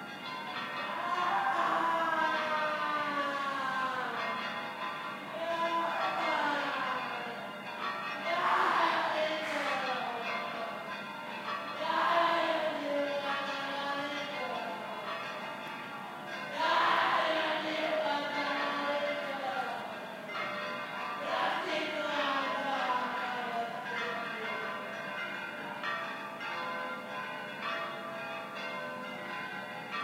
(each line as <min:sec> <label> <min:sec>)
0:00.0 joyful pealing church bells 0:30.0
0:00.9 Shouting 0:04.3
0:05.3 Shouting 0:07.3
0:08.3 Shouting 0:10.2
0:16.6 Shouting 0:18.3